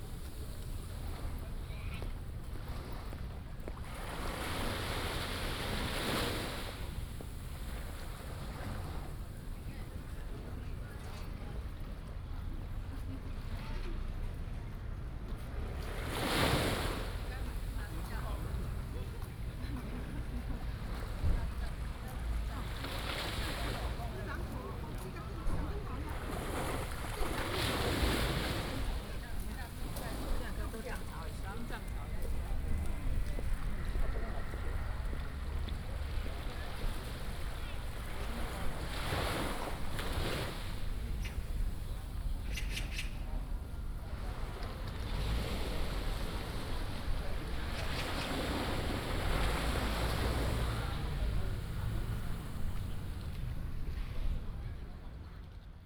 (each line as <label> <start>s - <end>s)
Tide 0.0s - 55.8s
Tourist 16.3s - 55.6s